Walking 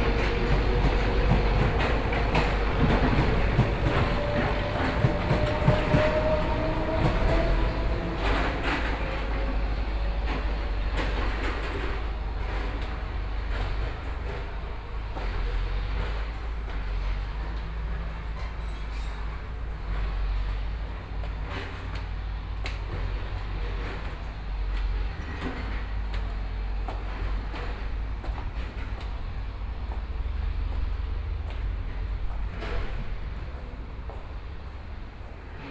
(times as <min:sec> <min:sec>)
0:00.0 0:17.0